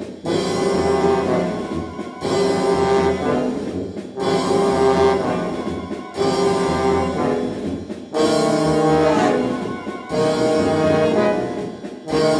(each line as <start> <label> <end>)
0.0 brass band rehearsal 12.3